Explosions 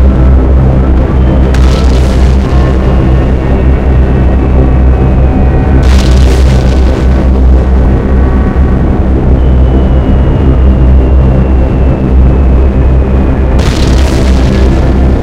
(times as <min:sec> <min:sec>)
0:01.3 0:05.0, 0:05.7 0:09.6, 0:13.5 0:15.2